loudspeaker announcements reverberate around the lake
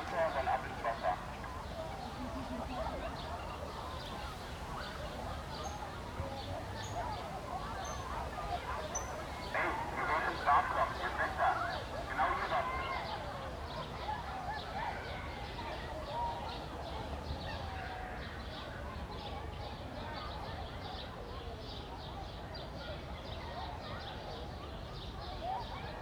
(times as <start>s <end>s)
0.0s 1.9s, 8.6s 14.6s